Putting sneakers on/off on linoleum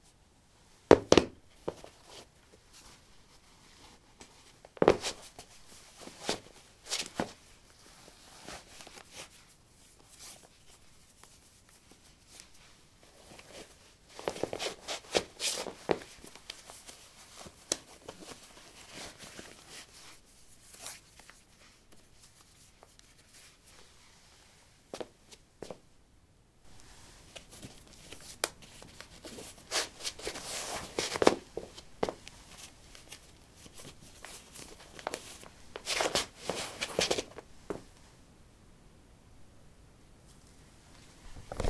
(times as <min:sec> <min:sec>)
0:00.9 0:01.9, 0:04.8 0:05.2